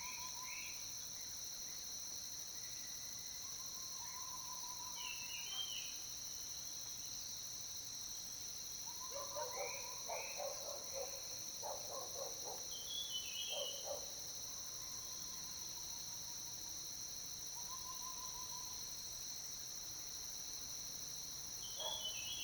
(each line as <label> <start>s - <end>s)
Insect sounds 0.0s - 22.4s
Dogs barking 9.1s - 12.7s
Dogs barking 21.8s - 22.1s